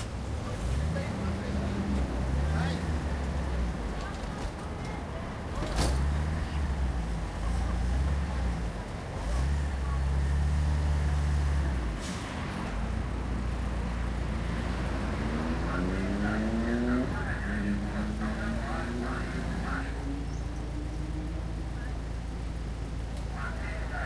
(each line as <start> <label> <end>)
0.0 traffic 24.0
15.2 Prerecorded annoucements in vans 20.7
21.6 Prerecorded annoucements in vans 24.0